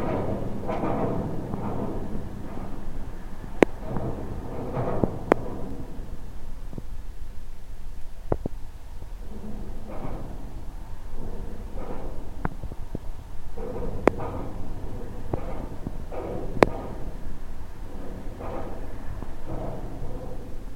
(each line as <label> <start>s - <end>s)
bridge 0.0s - 20.7s